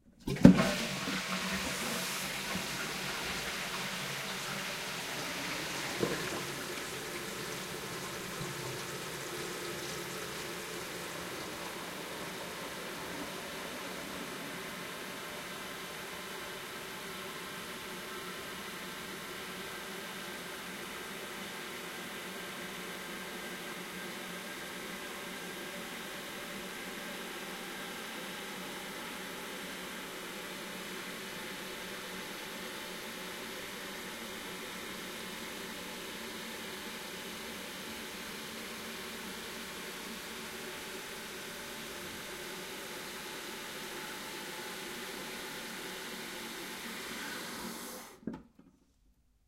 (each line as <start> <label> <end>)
0.1 Toilet Flush Long 48.6